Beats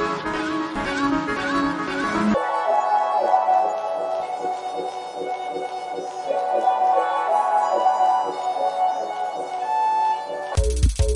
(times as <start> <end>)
10.6 11.1